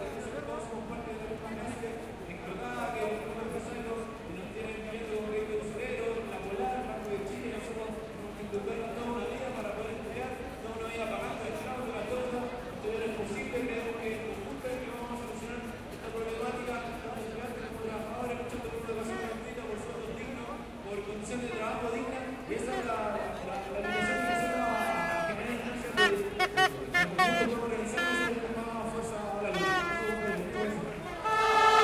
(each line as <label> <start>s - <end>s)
crowd 0.0s - 31.8s
vuvuzelas 23.8s - 28.6s
vuvuzelas 29.4s - 31.8s